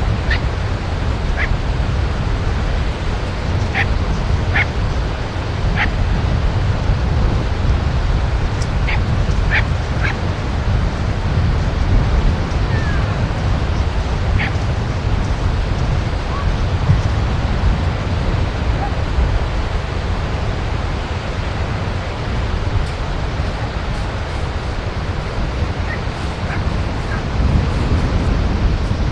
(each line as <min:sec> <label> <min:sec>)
0:00.0 waves 0:29.1
0:00.2 Dogs are barking in the background 0:00.5
0:01.3 Dogs are barking in the background 0:01.6
0:03.6 Dogs are barking in the background 0:04.8
0:05.7 Dogs are barking in the background 0:06.0
0:08.8 Dogs are barking in the background 0:10.3
0:14.3 Dogs are barking in the background 0:14.7
0:18.7 Dogs are barking in the background 0:19.1
0:25.8 Dogs are barking in the background 0:27.3